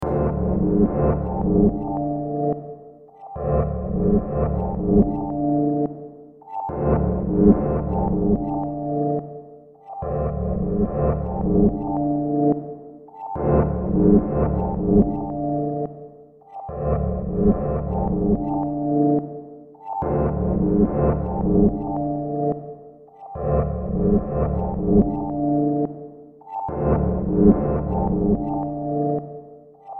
Drone 0.0 - 2.2
Drone 6.7 - 8.8
Drone 26.7 - 28.9

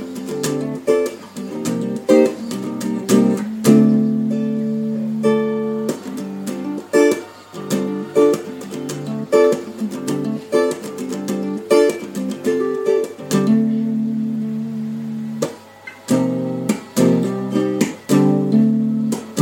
guitar experiments 0.0 - 19.4

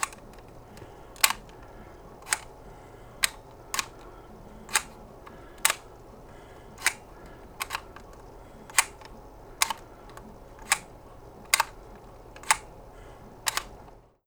camera cover sliding on and off 0.0 - 6.0

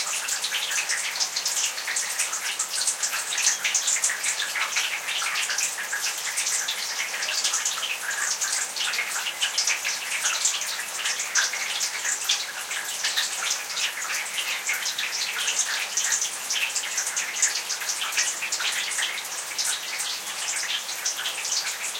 noises of a rain gutter during a rainfall 0.0 - 21.9

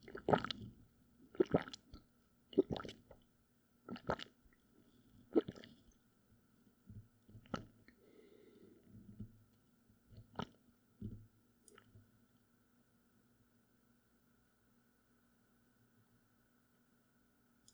gulping 0.0 - 0.6
gulping 1.3 - 1.8
gulping 2.6 - 3.1

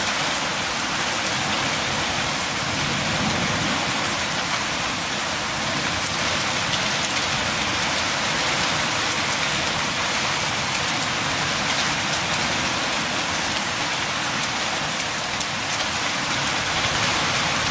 powerful rain 0.0 - 17.7
hailstorm 0.2 - 17.7

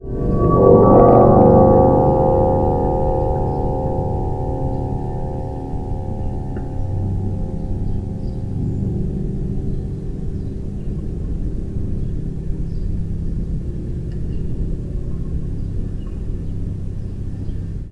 wind swelling on the harp 0.0 - 17.9

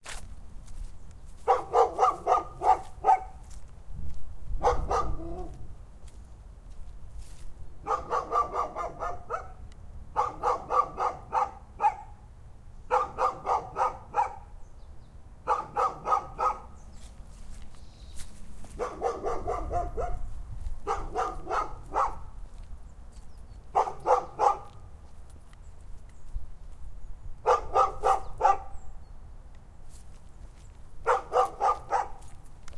insisting and annoying dog 1.4 - 3.5
insisting and annoying dog 4.6 - 5.6
insisting and annoying dog 7.8 - 9.6
insisting and annoying dog 10.2 - 12.1
insisting and annoying dog 15.5 - 16.8
insisting and annoying dog 18.7 - 22.4
insisting and annoying dog 23.7 - 24.8
insisting and annoying dog 27.5 - 28.8
insisting and annoying dog 31.0 - 32.3

